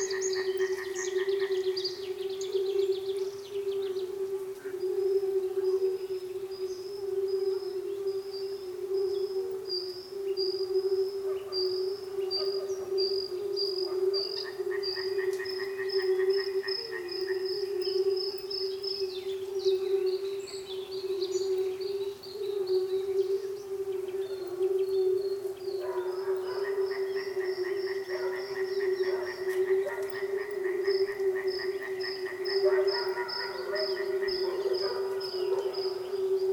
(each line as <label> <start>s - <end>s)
Frogs 0.0s - 36.5s